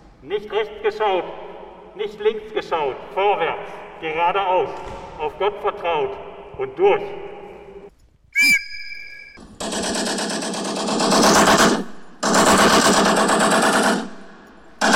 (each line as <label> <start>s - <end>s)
Echos 0.4s - 10.0s